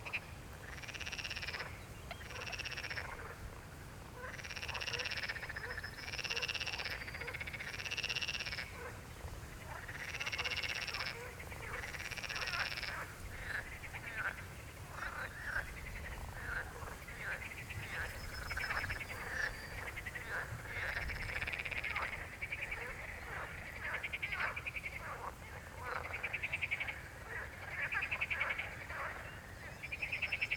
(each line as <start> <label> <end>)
0.0 frog concert 3.4
4.2 frog concert 9.0
9.6 frog concert 30.5